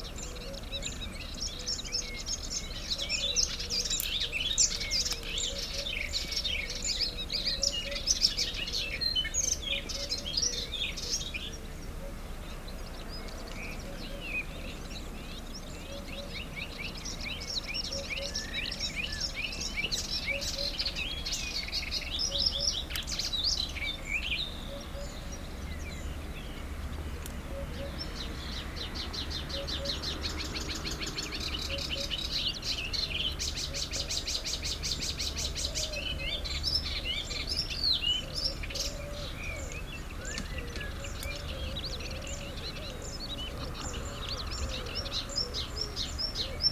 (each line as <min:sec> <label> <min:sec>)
0:00.0 Eurasian Hoopoe 0:46.7